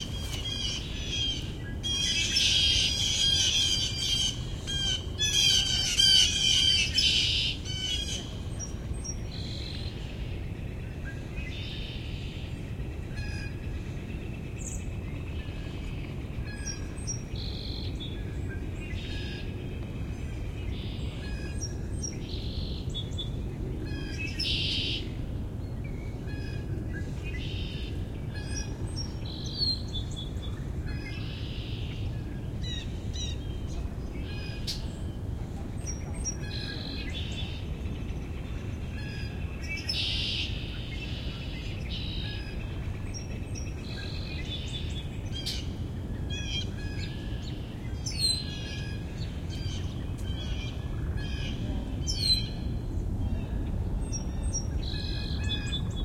0.0s Red-winged Blackbird 12.5s
0.0s Song Sparrow 13.6s
0.0s Northern Cardinal 56.0s
0.0s wind rustling through the trees 56.0s
14.5s Song Sparrow 35.2s
35.8s Song Sparrow 56.0s

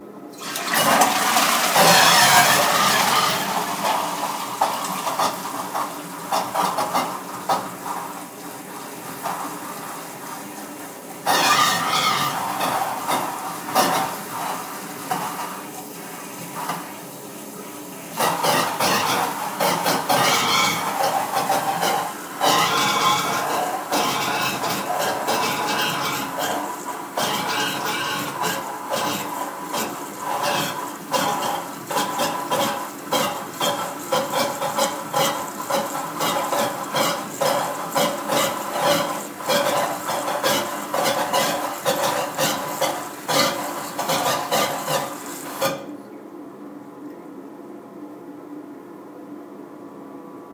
0.0s Flushing the water in toilet 47.4s
0.0s very loud water filling process 50.5s

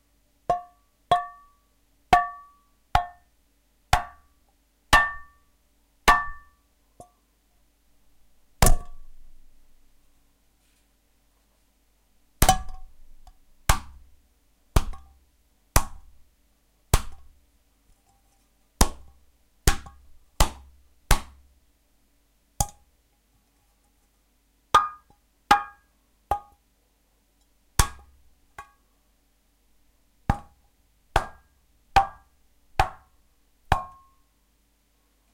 0.5s hits on pans and pots with spoons 1.5s

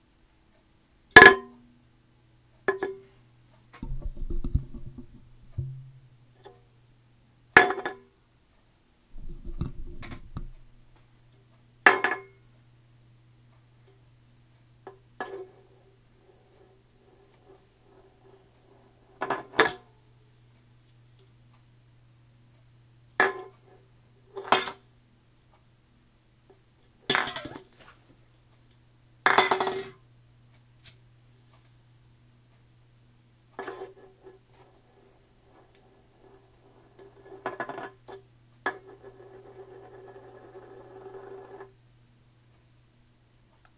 3.8s Coke can sounds 6.1s
9.2s Coke can sounds 10.7s

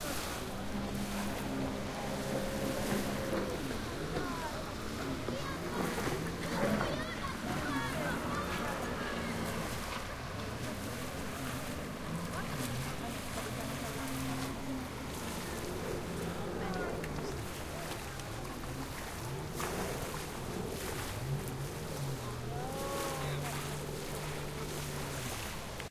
0.0s Water wave 25.9s
0.0s people 25.9s

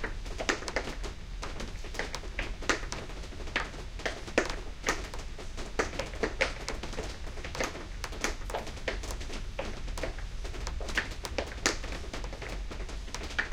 0.0s Rain 13.5s

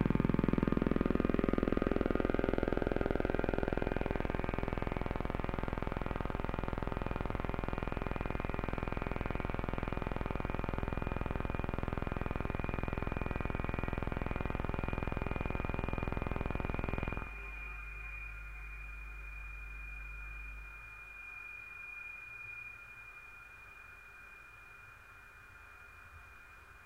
0.0s feedbacks 22.8s
0.0s Drone 26.8s

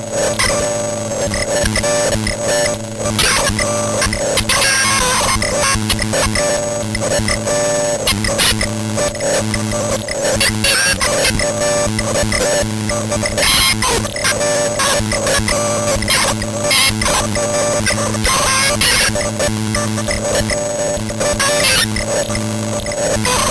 3.1s circuitbent speak&spell 7.5s
8.1s circuitbent speak&spell 23.5s

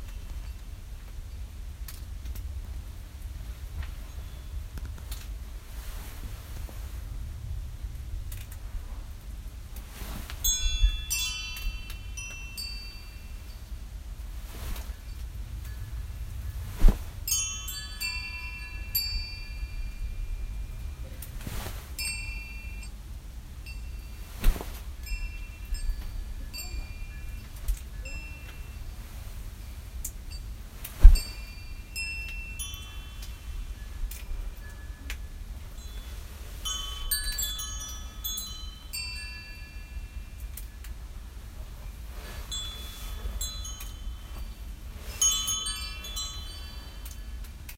4.0s wind chimes 4.7s
9.9s wind chimes 47.7s

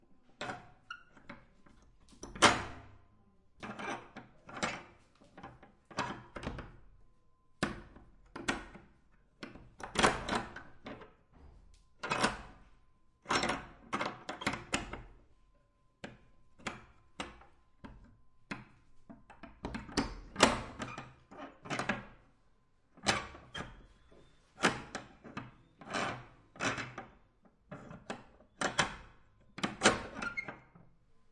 28.0s latch lock unlock squeak 30.7s

